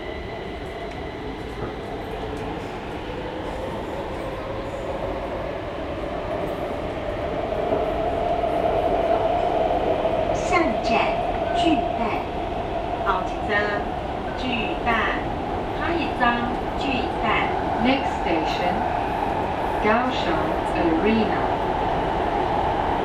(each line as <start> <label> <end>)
13.1 Broadcast Message 18.8